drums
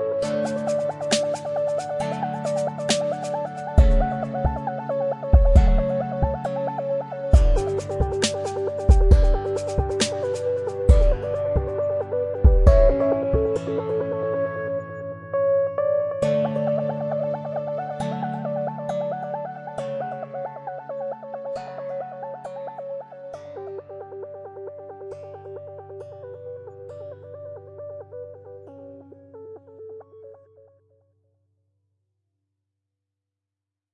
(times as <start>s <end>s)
2.8s 4.2s, 5.4s 6.4s, 7.4s 11.7s, 12.4s 13.0s